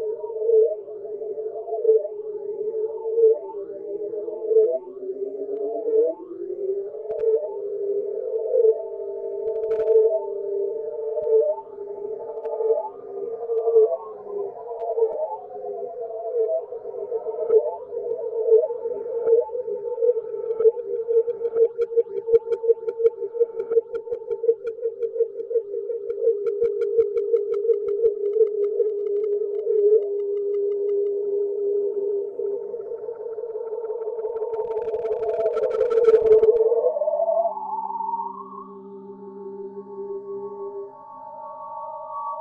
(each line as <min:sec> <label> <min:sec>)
0:00.0 howling noise 0:42.4